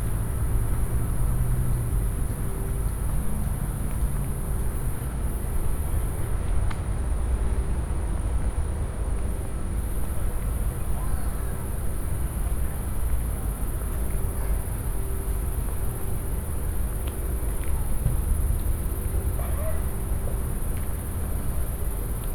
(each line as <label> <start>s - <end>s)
air conditioners and fans 0.0s - 22.3s
cicadas drone 9.8s - 22.3s